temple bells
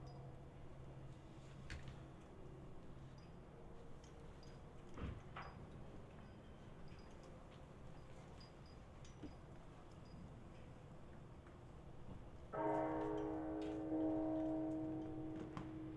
12.6s 15.9s

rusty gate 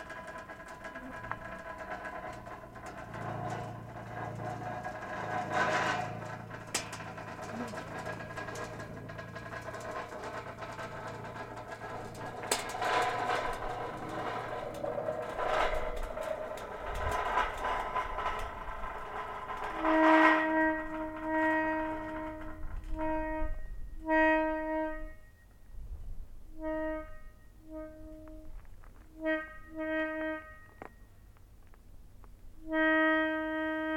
0.0s 25.5s

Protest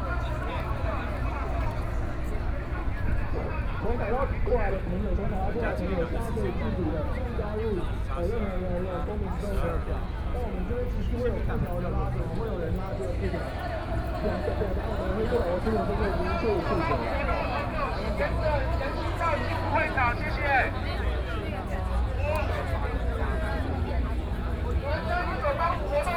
13.2s 22.6s

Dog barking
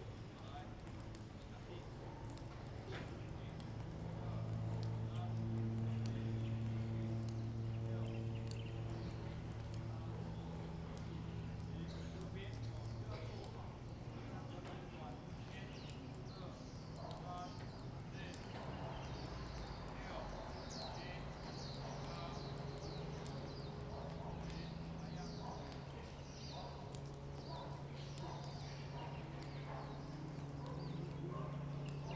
26.4s 32.1s

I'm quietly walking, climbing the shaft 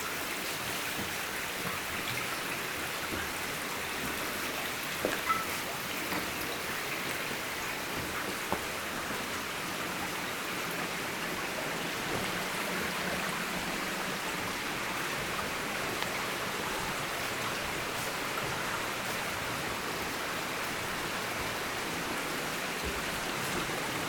0.4s 9.6s

